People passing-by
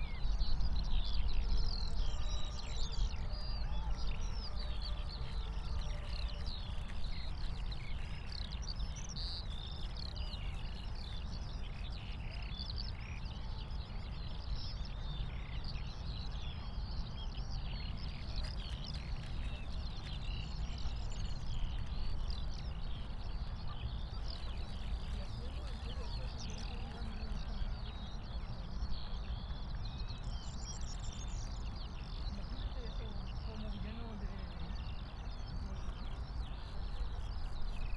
0:18.9 0:28.7

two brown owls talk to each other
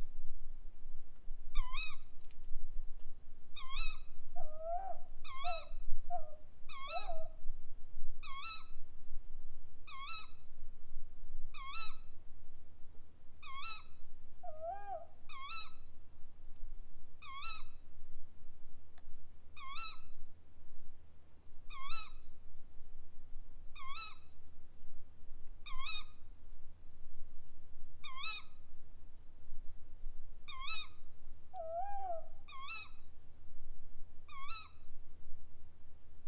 0:03.6 0:07.3, 0:14.4 0:15.6, 0:31.6 0:32.8

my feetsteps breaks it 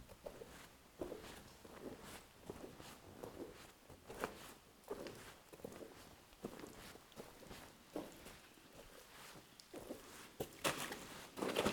0:10.4 0:11.7

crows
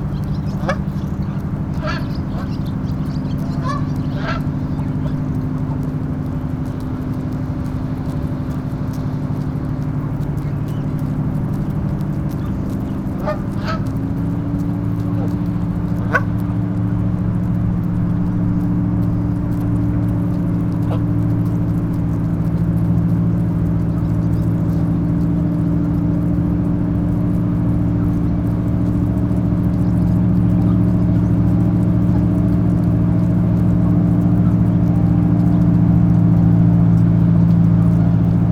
0:00.2 0:05.2, 0:13.2 0:14.0

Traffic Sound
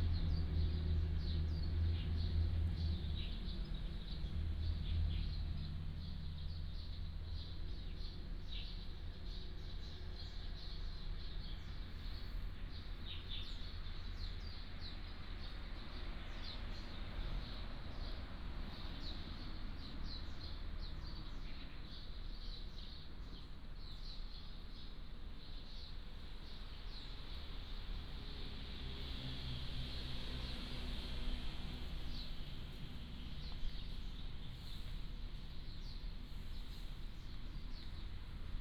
0:08.9 0:23.8, 0:24.5 0:38.6

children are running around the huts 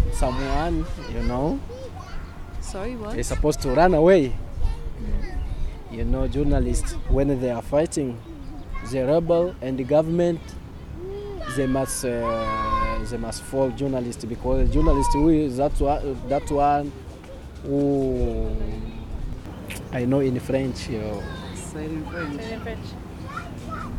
0:00.0 0:06.0, 0:10.3 0:19.3, 0:23.0 0:23.9

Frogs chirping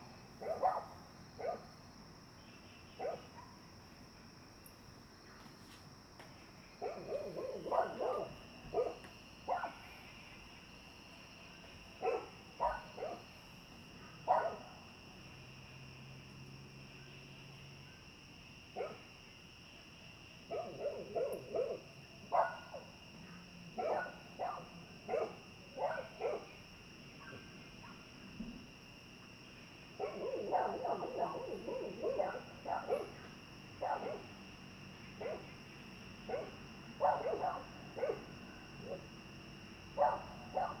0:06.4 0:16.1, 0:29.3 0:40.8

